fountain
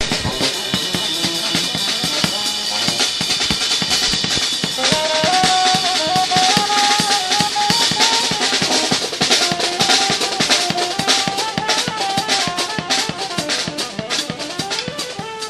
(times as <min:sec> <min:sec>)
0:00.0 0:10.1